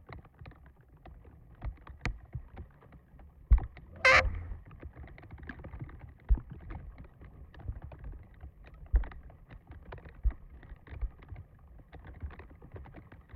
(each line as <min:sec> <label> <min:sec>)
0:04.0 Tree branch brushing against wooden fence, creaking 0:04.6